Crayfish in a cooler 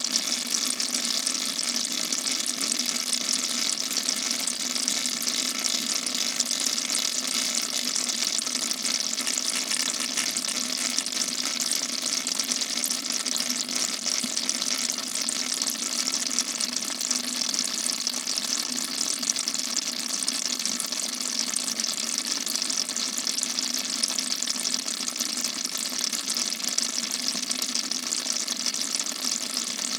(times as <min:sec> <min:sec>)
0:06.7 0:11.6